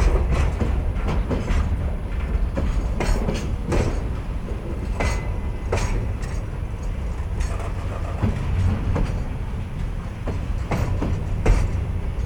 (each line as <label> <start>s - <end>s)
Long train is crossing the bridge 0.0s - 12.2s